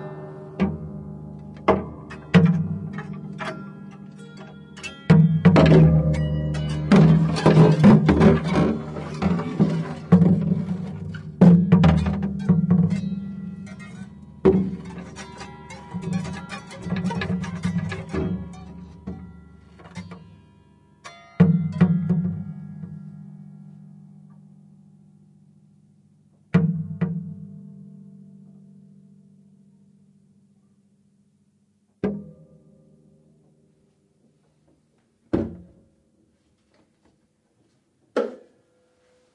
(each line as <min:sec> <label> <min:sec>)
0:00.0 noises - more or less random - made by two guitars 0:24.8